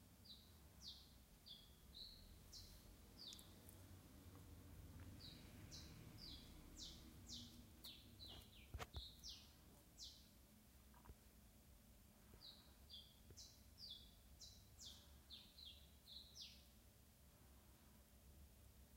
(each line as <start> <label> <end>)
0.2 Birds singing 3.7
5.1 Birds singing 10.4
12.4 Birds singing 16.7